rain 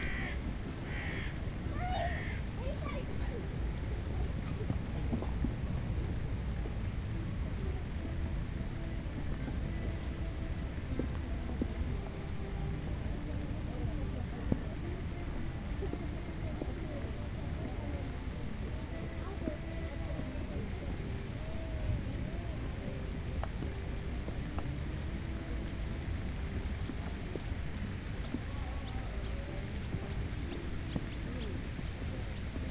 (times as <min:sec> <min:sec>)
0:20.6 0:32.7